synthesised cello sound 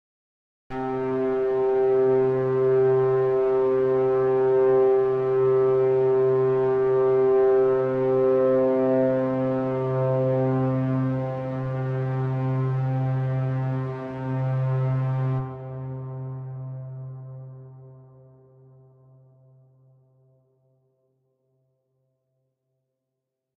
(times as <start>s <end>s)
0.8s 18.4s